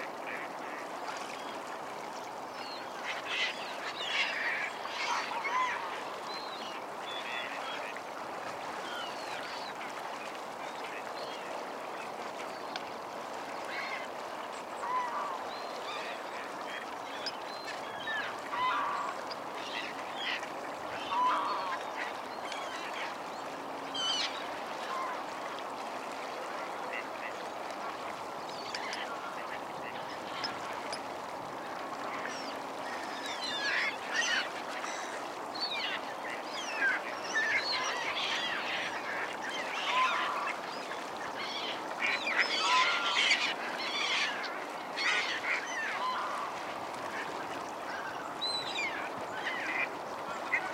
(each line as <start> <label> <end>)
0.0 mute swans (flapping their wings) 50.7
17.7 Canada geese 19.2
18.0 black-headed gulls 19.1
20.2 mallard 22.1
20.2 Canada geese 22.2
20.2 greylag geese 22.1
41.4 greylag geese 50.7
41.5 Canada geese 46.7
41.9 mallard 47.4